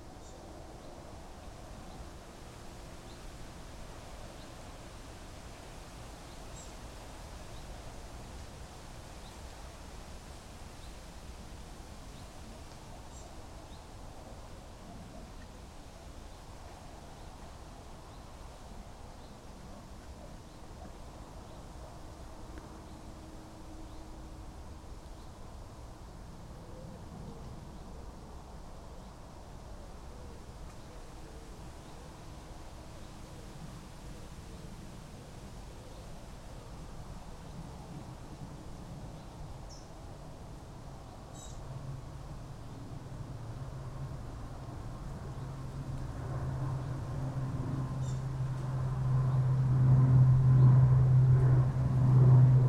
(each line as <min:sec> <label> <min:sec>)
0:00.0 wind in trees 0:52.6
0:16.6 aeroplane overhead 0:52.6
0:41.3 Bird call in trees 0:41.6
0:48.0 Bird call in trees 0:48.2